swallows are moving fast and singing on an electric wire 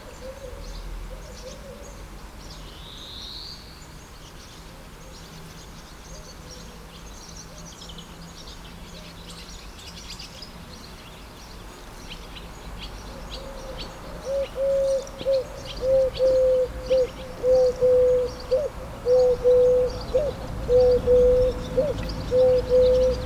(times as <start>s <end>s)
1.4s 15.8s